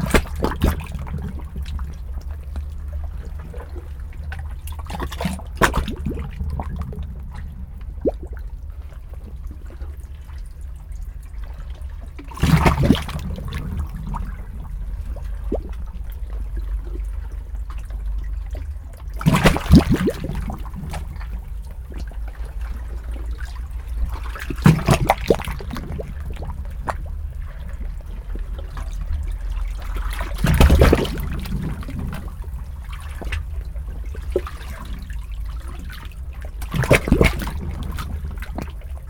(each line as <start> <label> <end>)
0.0 suck and draw of waves through the rikrak 39.0